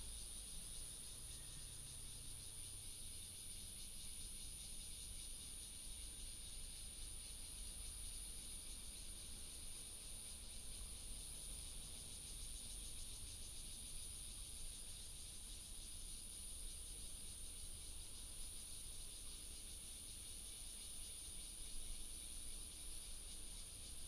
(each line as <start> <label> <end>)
0.0 Cicada 24.0